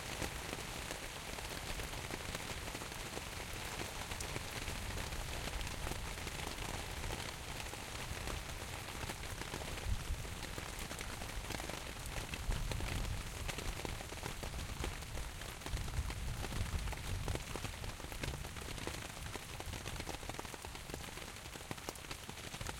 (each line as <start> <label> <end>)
0.0 rain on tent sail 22.7